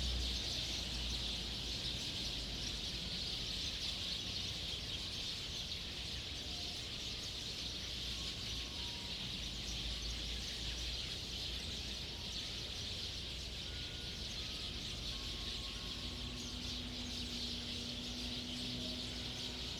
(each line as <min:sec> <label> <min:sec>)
0:00.0 Birdsong 0:19.7
0:12.6 Traffic Sound 0:19.7